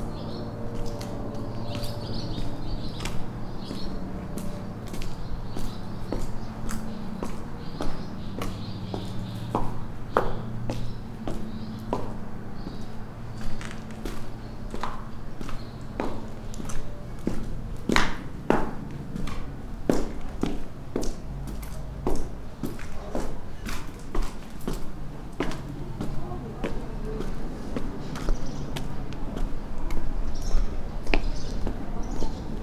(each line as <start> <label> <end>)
0.0 birds 18.1
25.5 birds 32.6